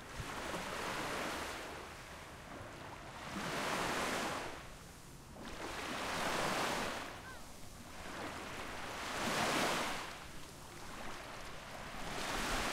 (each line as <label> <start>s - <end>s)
Walking on the beach 0.0s - 12.7s
waves 0.0s - 12.7s